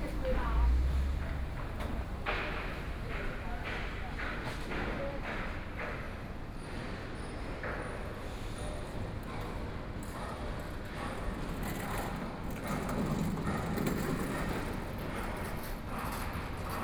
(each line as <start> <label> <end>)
0.0 Walking through the streets 4.6
0.0 Traffic Sound 4.8